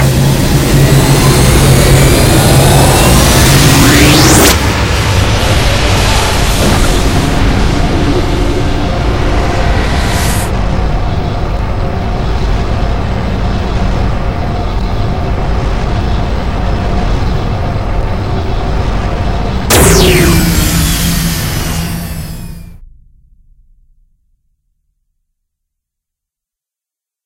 0.0s hyperdrive 10.5s
19.7s hyperdrive 24.2s

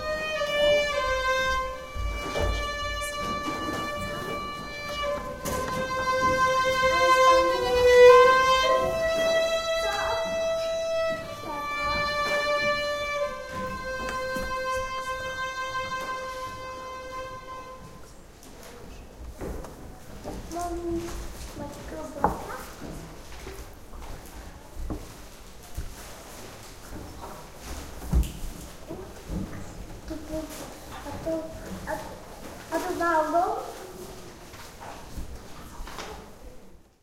0.0s played on the violin by a young student 18.1s

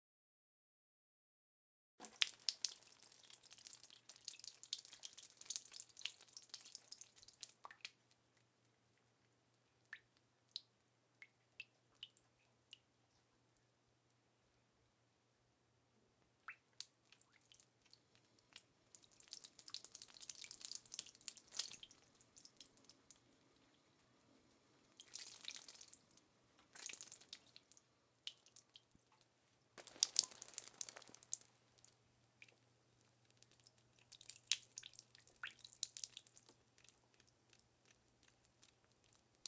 2.0s water trickle drips drops small splash onto concrete floor 8.0s
16.5s water trickle drips drops small splash onto concrete floor 23.2s
25.0s water trickle drips drops small splash onto concrete floor 32.6s
33.3s water trickle drips drops small splash onto concrete floor 39.4s

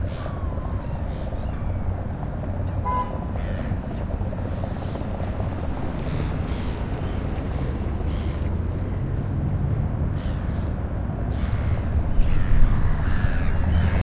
0.0s river 14.0s

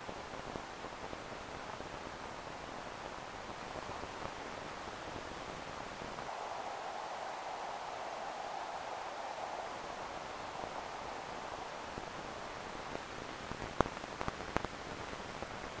0.0s buffer static 15.8s

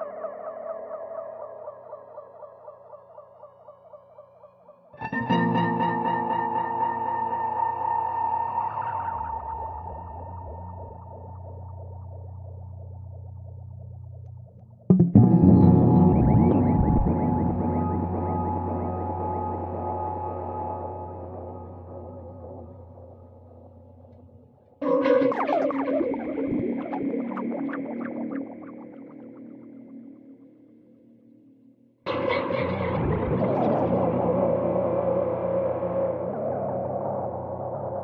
0.0s guitar 13.4s
14.0s guitar 38.0s

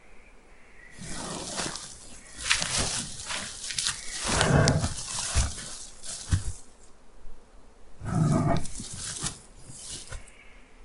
1.0s growl grizzly bear 6.6s
8.0s growl grizzly bear 10.1s

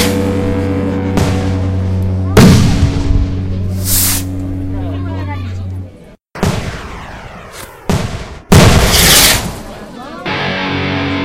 2.3s rocket 4.4s
6.4s rocket 9.9s

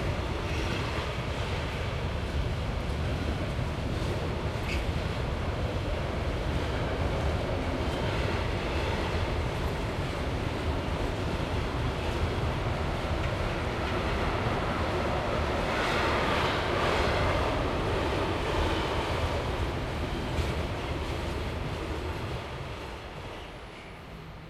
0.0s bus 24.4s
0.0s train 24.4s

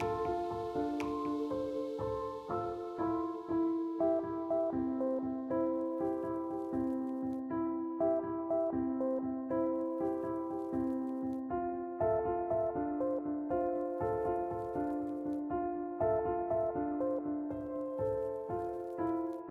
0.0s piano 19.5s

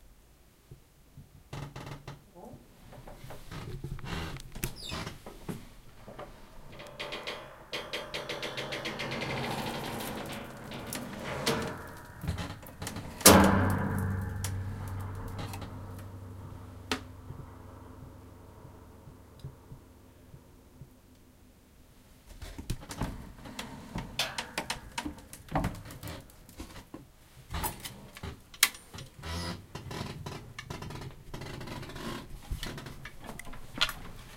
1.5s creak 5.4s
6.1s creak 16.1s
6.2s Attic Door Springs 17.2s
13.2s thump 18.8s
27.5s creak 33.5s

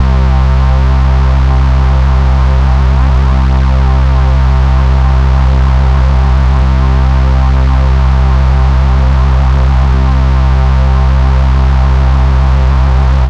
0.0s Bass loops 13.2s

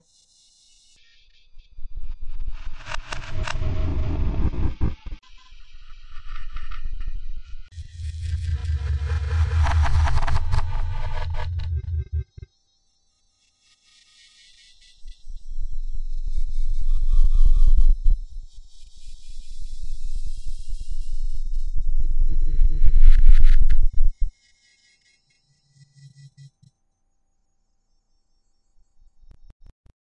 2.7s ghostly glitchy sounds 12.5s
7.8s deep repeating sounds 12.5s

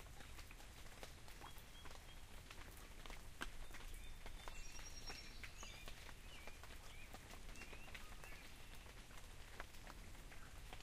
0.0s Rain falling 10.8s
0.0s quiet sound of the creek 10.8s
1.4s birds singing 2.4s
3.6s birds singing 9.0s

